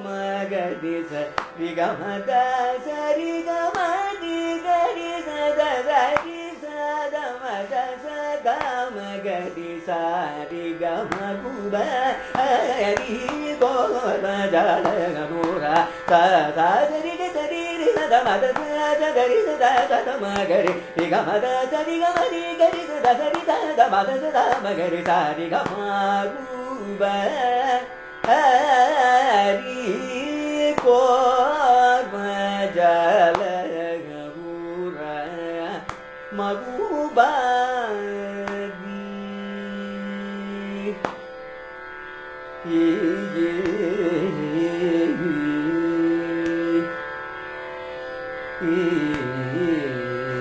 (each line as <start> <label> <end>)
0.0 Carnatic varnam 50.4